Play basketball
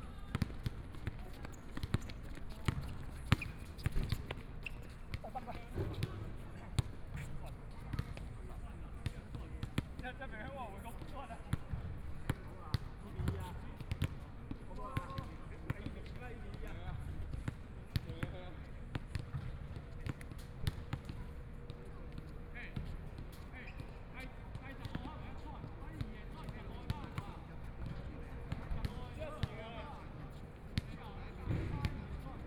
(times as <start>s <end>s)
0.1s 8.4s, 11.0s 23.8s, 30.8s 32.2s